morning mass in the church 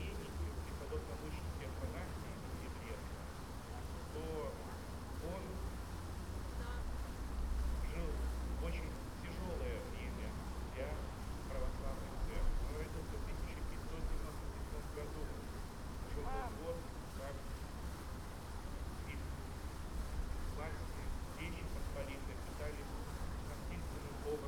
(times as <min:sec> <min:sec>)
0:20.5 0:24.4